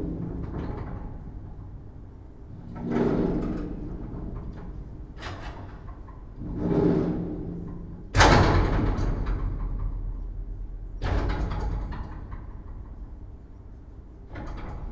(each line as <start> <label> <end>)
0.0 wind 14.9
2.7 slamming door 10.2
11.0 slamming door 13.0